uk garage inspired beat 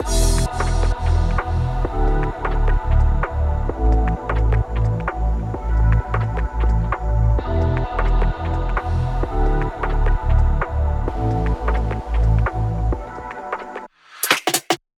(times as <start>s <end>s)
10.6s 14.8s